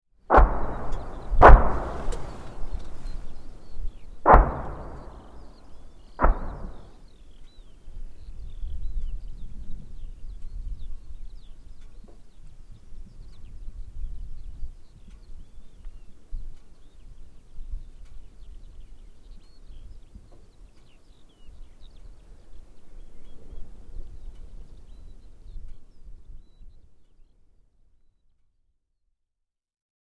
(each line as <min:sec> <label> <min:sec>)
0:00.3 guns 0:03.7
0:00.3 skylarks 0:12.4
0:04.3 guns 0:07.0